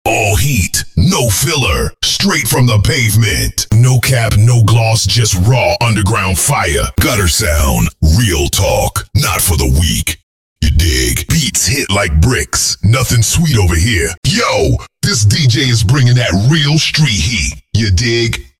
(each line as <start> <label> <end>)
3.7 beat 4.8